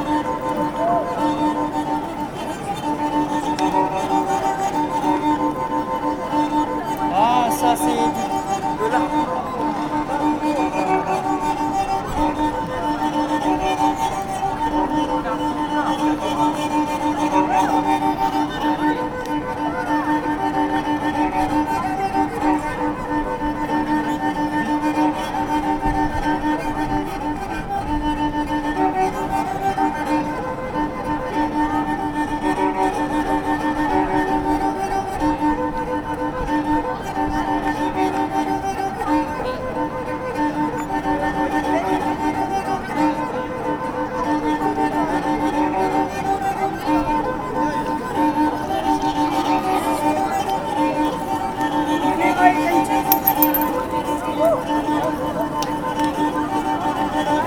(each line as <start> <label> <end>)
0.0 marteaux 27.2
28.0 marteaux 57.4